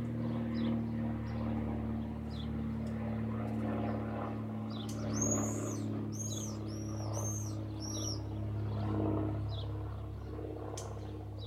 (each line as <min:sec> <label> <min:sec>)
0:00.0 light aircraft passes above 0:11.4
0:04.7 birds call 0:11.4